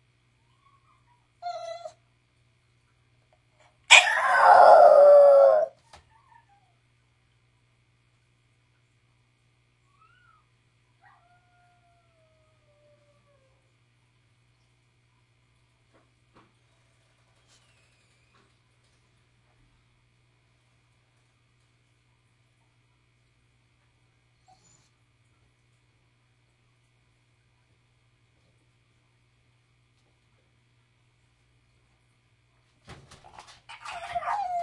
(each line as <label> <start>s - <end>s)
toy poodle also howling in the background 0.5s - 2.0s
English Bulldog crying, barking, and howling 0.8s - 2.0s
English Bulldog crying, barking, and howling 3.9s - 6.6s
toy poodle also howling in the background 3.9s - 6.8s
toy poodle also howling in the background 9.9s - 13.7s
English Bulldog crying, barking, and howling 33.7s - 34.6s
toy poodle also howling in the background 33.7s - 34.6s